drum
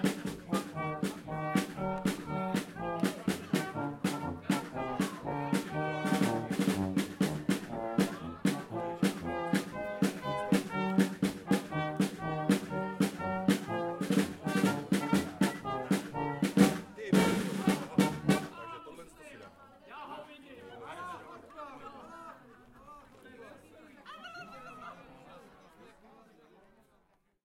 0.0 18.6

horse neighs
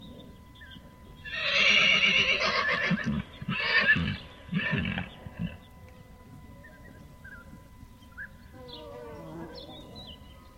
1.2 5.6

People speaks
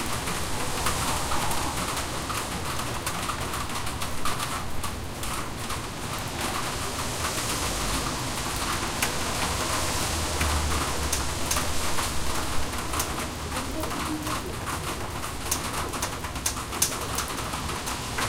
13.4 14.6

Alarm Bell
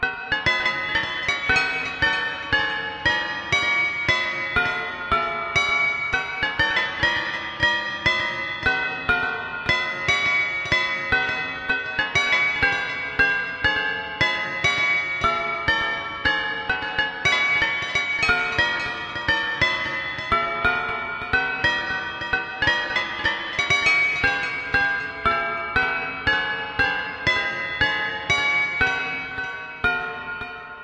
17.0 30.8

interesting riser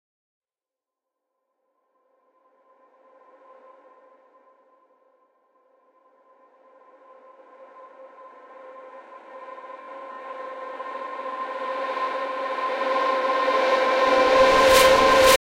13.6 15.4

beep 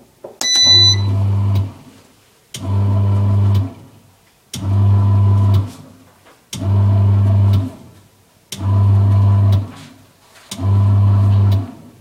0.4 1.2

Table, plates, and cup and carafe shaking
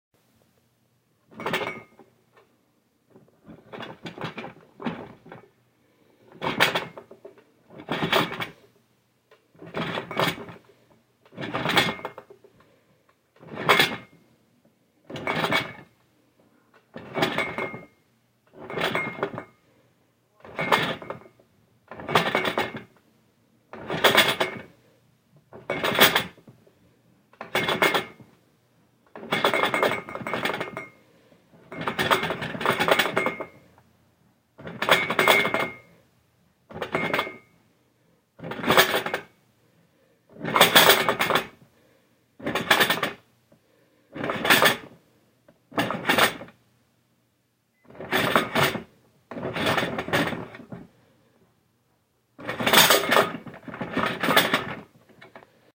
1.3 2.1, 6.3 8.6, 9.6 10.6, 11.3 12.3, 13.4 14.1, 15.1 15.9, 16.9 19.6, 20.4 21.3, 21.9 22.9, 23.7 24.6, 25.5 26.4, 27.4 28.2, 29.1 31.0, 31.7 33.6, 34.6 35.9, 36.7 37.5, 38.4 39.3, 40.4 41.6, 42.4 43.2, 44.2 44.9, 45.7 46.5, 47.9 50.8, 52.4 55.3

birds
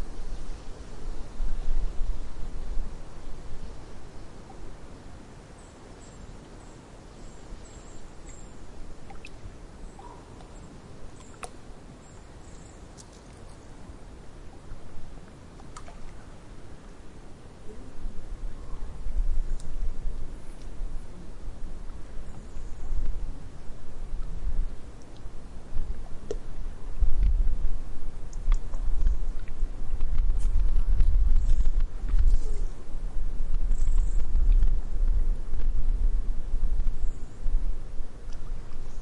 5.4 14.8, 31.3 32.9, 33.6 34.9, 36.8 37.7

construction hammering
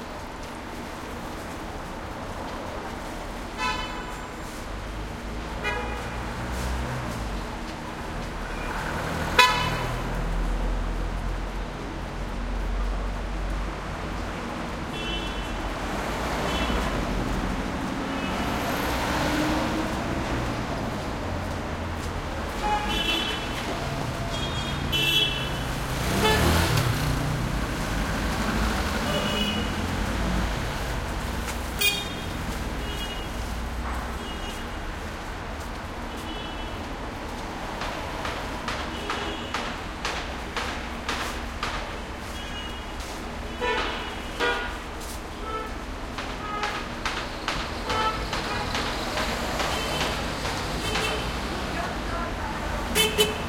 37.7 42.2, 46.1 51.8

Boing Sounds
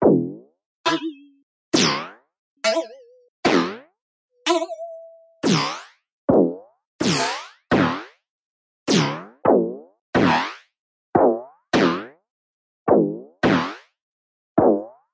0.0 8.1

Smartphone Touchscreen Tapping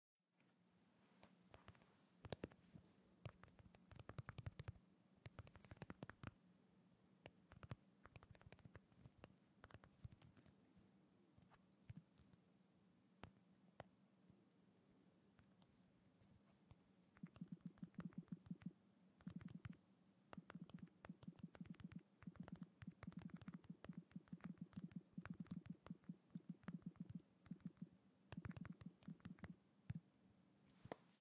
20.4 29.6

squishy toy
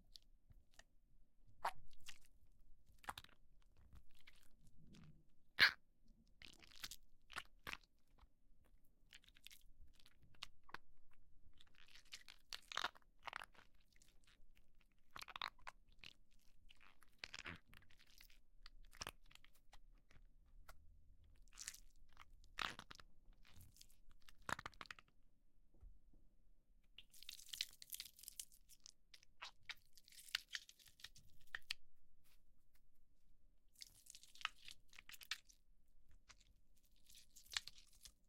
5.6 5.8

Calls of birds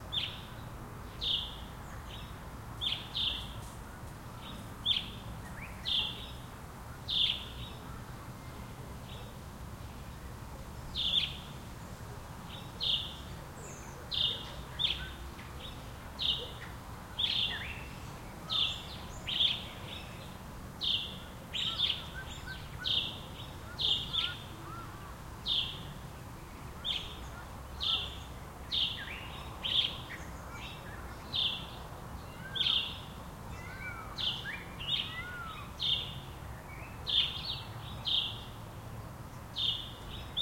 12.4 26.0, 26.7 38.6

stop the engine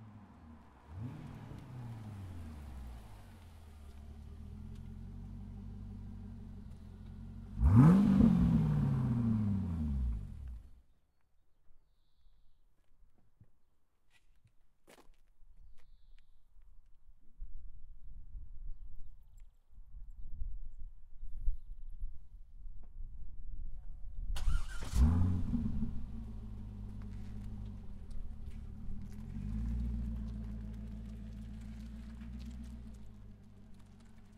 24.4 34.3

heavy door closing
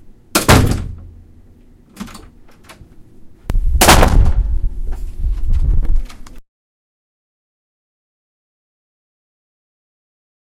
0.4 1.1

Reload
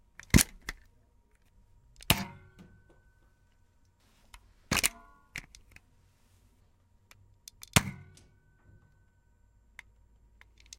4.7 5.5

